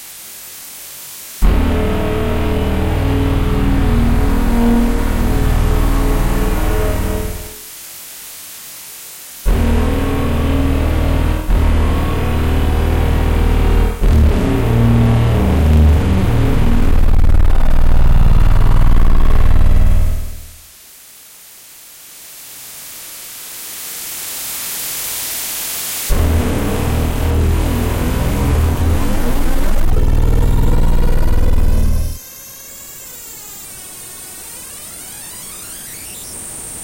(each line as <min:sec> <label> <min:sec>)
0:01.4 feedback noises 0:07.7
0:09.4 feedback noises 0:20.7
0:26.1 feedback noises 0:36.8